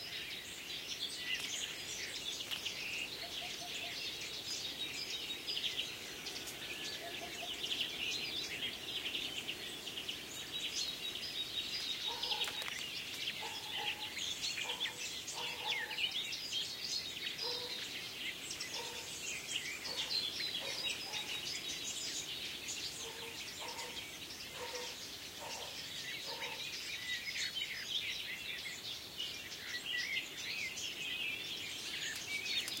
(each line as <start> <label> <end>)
0.0 blackcap 27.6
12.0 dogs barking 12.8
13.4 dogs barking 16.1
17.4 dogs barking 17.8
18.7 dogs barking 19.1
19.8 dogs barking 21.4
23.0 dogs barking 26.6
29.3 blackcap 32.8